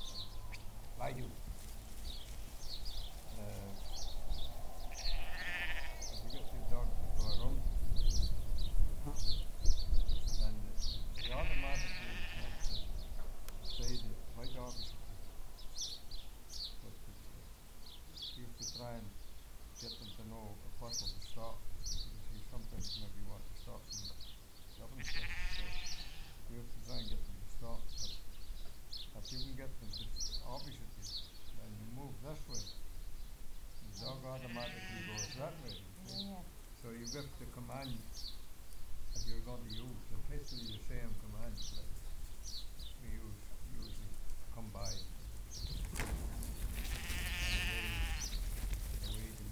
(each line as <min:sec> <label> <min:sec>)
0:00.0 enthusiastic sheepdogs herding the sheep 0:16.8
0:00.0 low thunder of a lot of hooves moving in Unison 0:24.4
0:00.0 wind 0:49.5
0:36.5 low thunder of a lot of hooves moving in Unison 0:49.5
0:39.1 enthusiastic sheepdogs herding the sheep 0:49.5